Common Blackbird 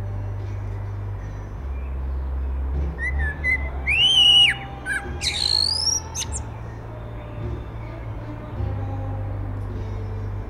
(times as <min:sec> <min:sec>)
0:00.8 0:08.6